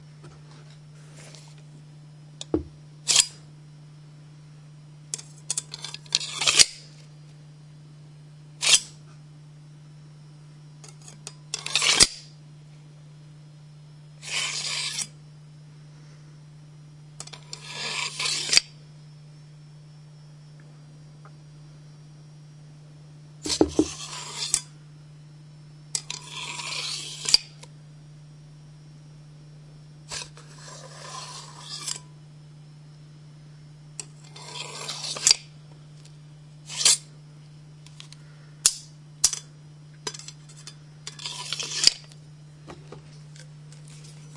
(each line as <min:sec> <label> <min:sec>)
0:03.1 Drawing and sheathing of a different metal dagger 0:03.4
0:05.5 Drawing and sheathing of a different metal dagger 0:06.8
0:08.6 Drawing and sheathing of a different metal dagger 0:09.0
0:10.9 Drawing and sheathing of a different metal dagger 0:12.2
0:14.2 Drawing and sheathing of a different metal dagger 0:15.2
0:17.5 Drawing and sheathing of a different metal dagger 0:18.7
0:23.5 Drawing and sheathing of a different metal dagger 0:24.7
0:26.0 Drawing and sheathing of a different metal dagger 0:27.5
0:30.1 Drawing and sheathing of a different metal dagger 0:32.1
0:34.2 Drawing and sheathing of a different metal dagger 0:35.5
0:36.7 Drawing and sheathing of a different metal dagger 0:37.1
0:40.1 Drawing and sheathing of a different metal dagger 0:42.1